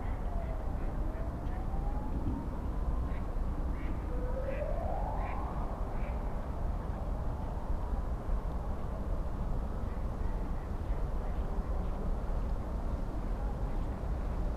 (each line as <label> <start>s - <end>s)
police & ambulance sirens 4.0s - 5.9s